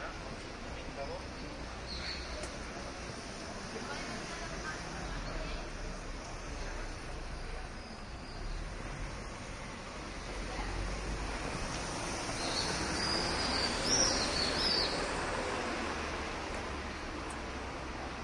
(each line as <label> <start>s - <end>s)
traffic noise 0.0s - 18.2s